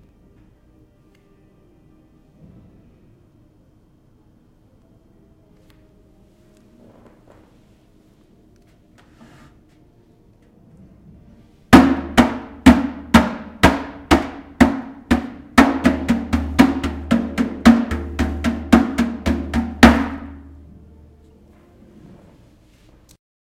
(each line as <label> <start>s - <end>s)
hitting a trash can very hard 11.8s - 20.5s